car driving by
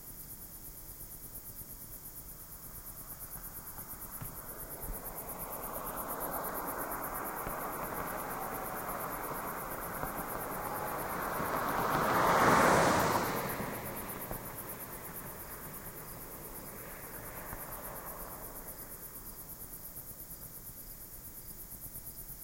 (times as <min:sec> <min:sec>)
0:03.0 0:19.8